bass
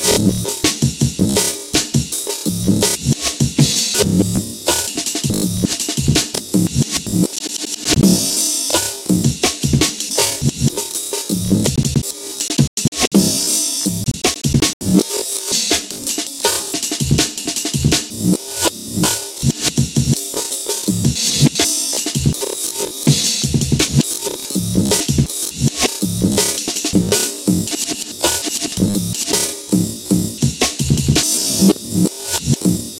0.0 4.6, 5.2 7.3, 8.0 8.3, 9.1 10.7, 11.3 12.0, 12.6 15.0, 17.8 20.2, 20.8 21.6, 22.2 22.4, 23.1 27.8, 28.7 32.9

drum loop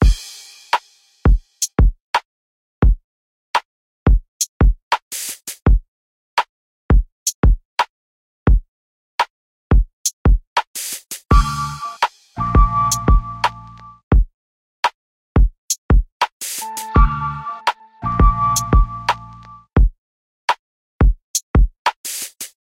0.0 1.4, 11.3 14.2, 16.6 19.5

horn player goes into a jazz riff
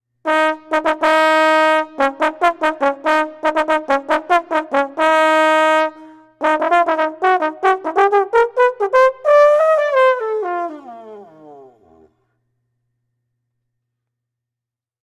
0.3 11.2

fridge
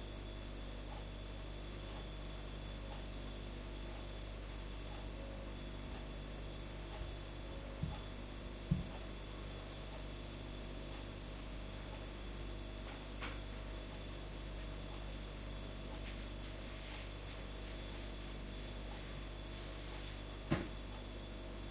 11.9 21.7

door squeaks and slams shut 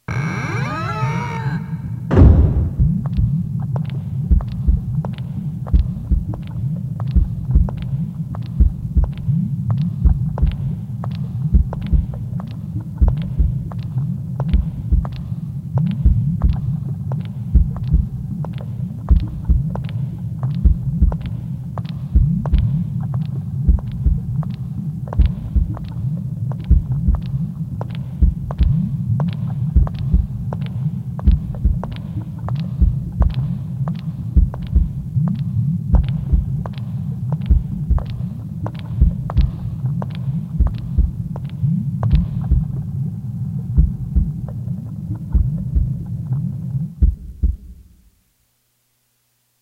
0.0 3.0

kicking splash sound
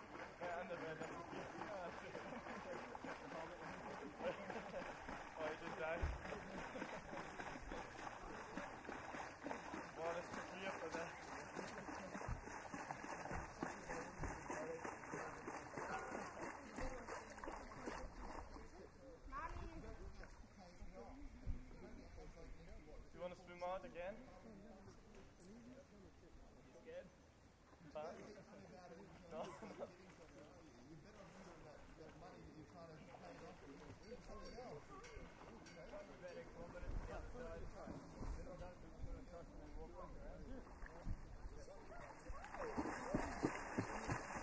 1.5 18.4, 42.0 44.4

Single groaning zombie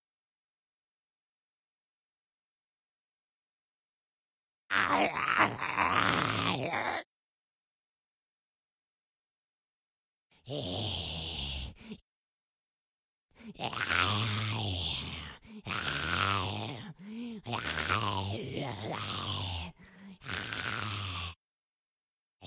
4.7 7.1, 13.6 21.4

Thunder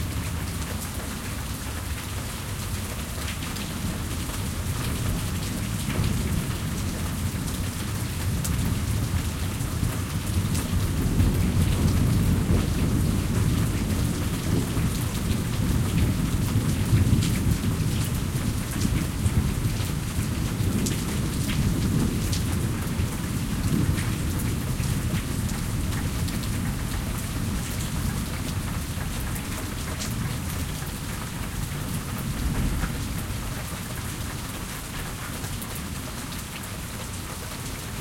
10.2 26.0

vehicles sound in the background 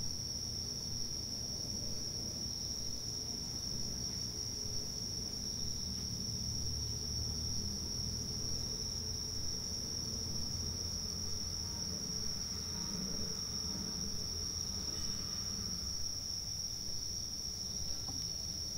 5.2 15.9

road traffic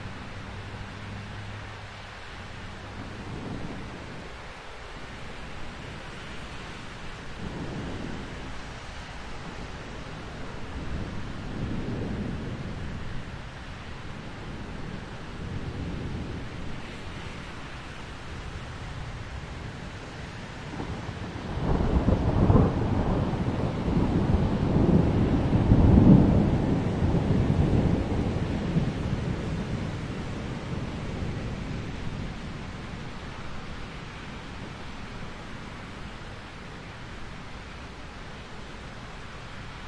0.0 7.4

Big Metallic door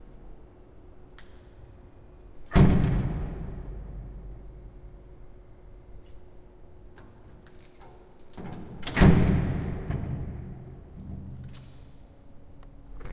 2.3 5.4, 8.3 12.1

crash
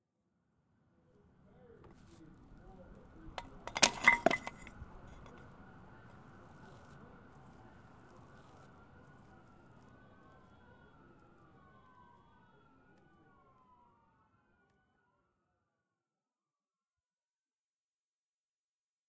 3.4 5.4

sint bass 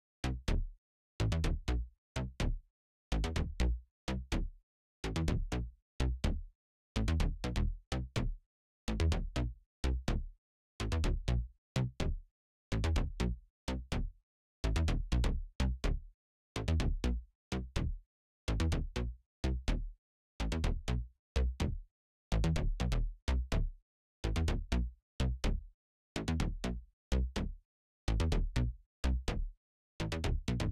30.1 30.7

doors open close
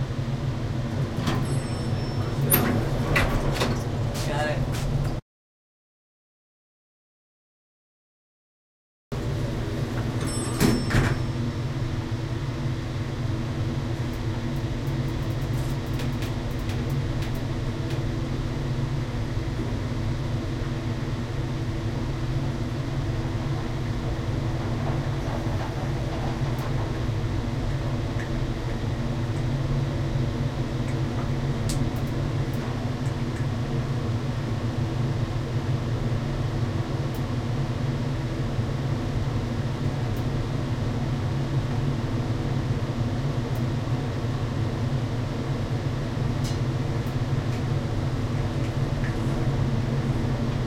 1.0 4.2, 9.9 11.4

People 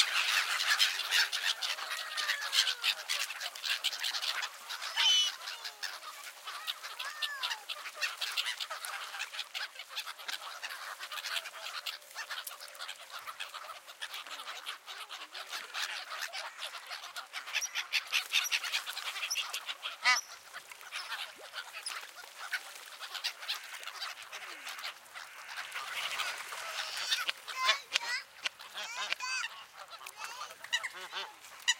4.8 8.2, 26.1 31.3

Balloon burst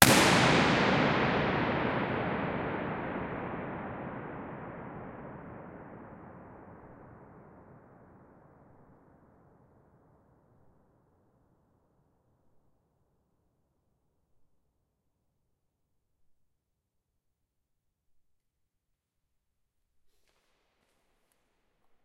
0.0 6.2

